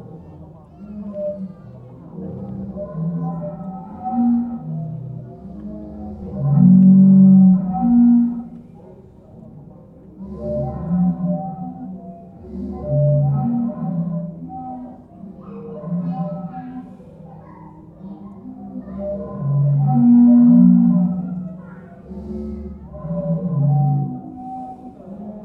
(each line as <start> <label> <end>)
19.0 Sea Organ 25.4